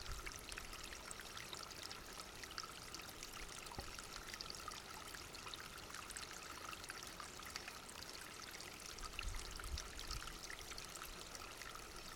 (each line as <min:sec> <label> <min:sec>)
0:00.0 Small stream 0:12.1